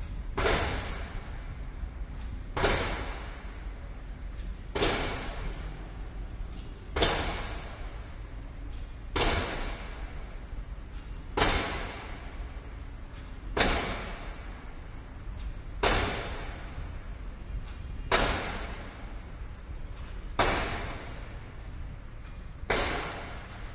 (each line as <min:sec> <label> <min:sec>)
0:00.4 pile driver 0:01.5
0:02.5 pile driver 0:03.6
0:04.3 pile driver 0:05.8
0:06.5 pile driver 0:08.1
0:08.7 pile driver 0:16.9
0:17.7 pile driver 0:19.3
0:19.9 pile driver 0:21.4
0:22.2 pile driver 0:23.7